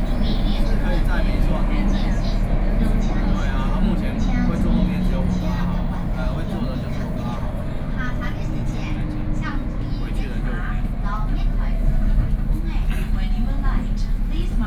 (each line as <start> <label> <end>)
0.0 Take the MRT 14.6